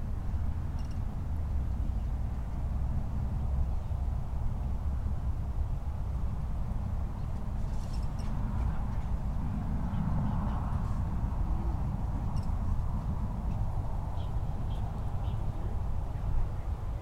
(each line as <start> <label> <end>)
0.0 Cars can be heard passing over the bridge 17.0
0.0 multiple people pass by 17.0